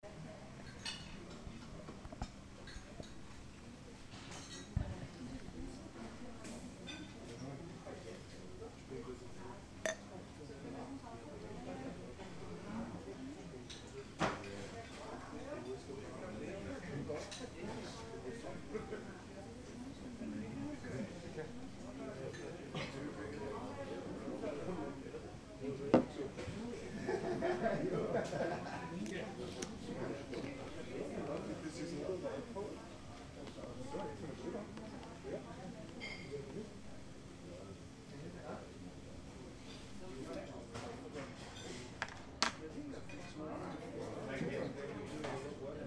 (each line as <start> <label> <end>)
0.2 conversation of the guests 45.8
0.5 clutter of the plates, cutlery 5.1
6.4 clutter of the plates, cutlery 7.4
13.6 clutter of the plates, cutlery 15.8
35.9 clutter of the plates, cutlery 36.5
39.6 clutter of the plates, cutlery 43.4